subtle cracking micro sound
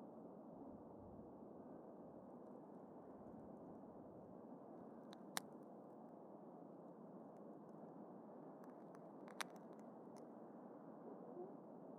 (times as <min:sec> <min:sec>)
0:08.6 0:10.3